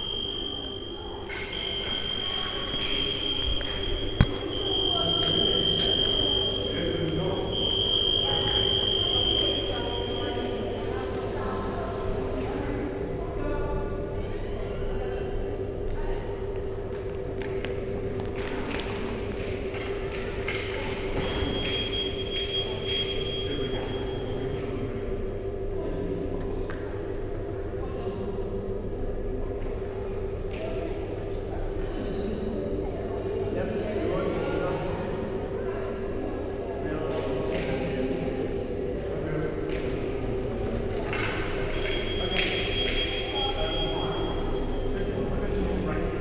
contact alarms 0.0 - 10.7

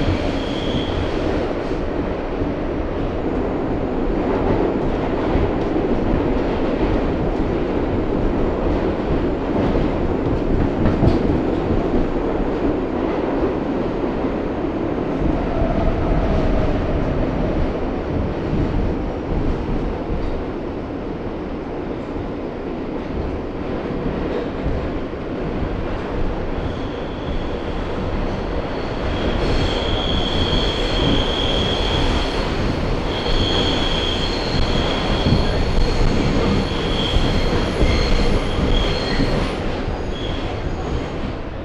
riding on a Subway Train 0.0 - 41.6

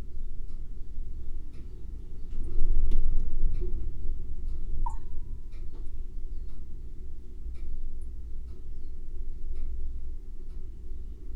freezer’s hum 0.0 - 11.3
water filter 4.8 - 5.5

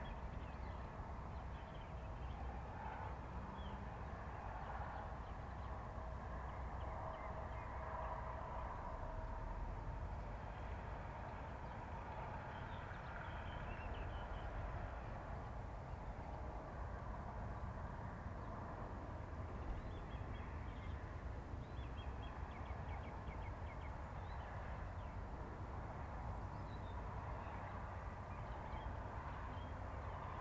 crickets 0.0 - 30.4

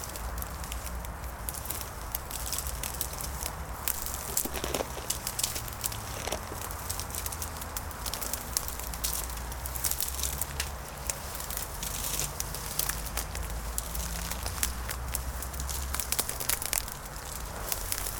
walking through dead brush 0.0 - 18.1

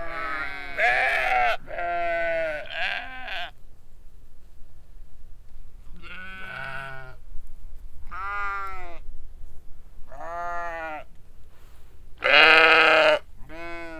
big group of sheeps baaing 0.0 - 3.5
big group of sheeps baaing 12.2 - 13.9

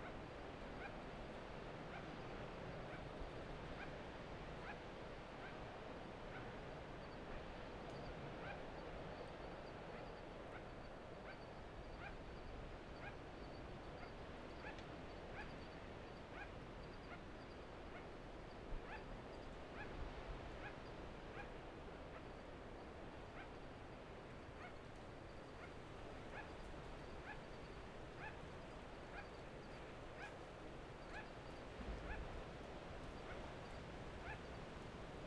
wind 0.0 - 35.2
Sugar glider (Petaurus breviceps) calling 28.2 - 28.4
Sugar glider (Petaurus breviceps) calling 29.1 - 30.4
Sugar glider (Petaurus breviceps) calling 31.0 - 31.4
Sugar glider (Petaurus breviceps) calling 34.2 - 34.6

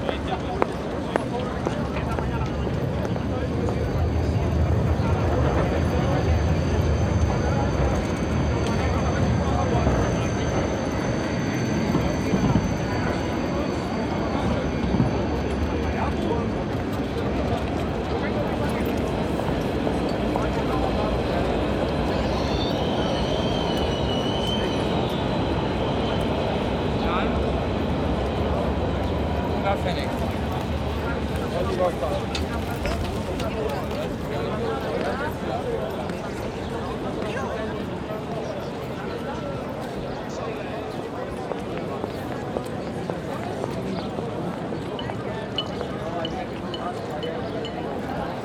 Trams 0.0 - 48.4
in der Ferne S- und Regionalbahnen 0.0 - 48.4

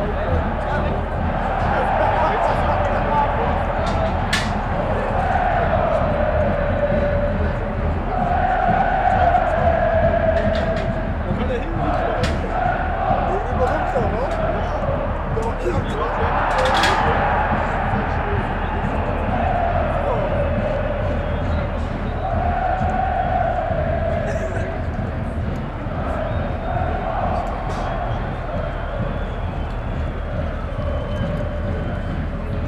voice of the security guards, police 0.0 - 23.4
fans chanting 0.0 - 32.6
voice of the stadium speaker 0.0 - 32.6

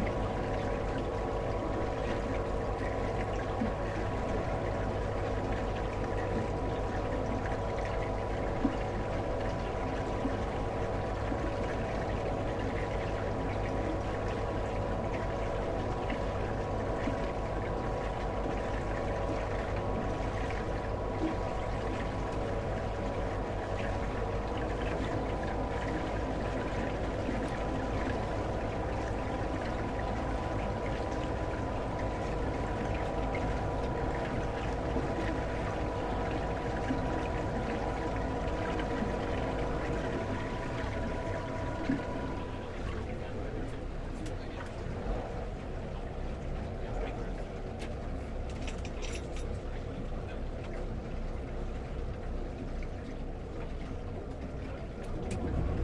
Harbour Patrol Boat 0.0 - 55.8

